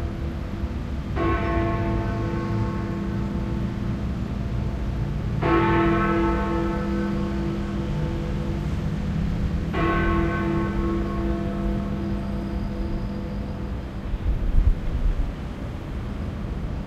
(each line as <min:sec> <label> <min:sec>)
0:00.0 traffic 0:16.8
0:09.7 bell 0:13.8